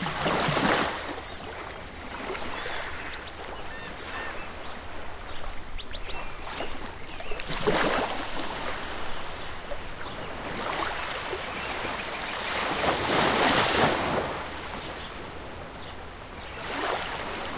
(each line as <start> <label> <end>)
0.0 Ocean Waves 17.5
0.3 birds 17.5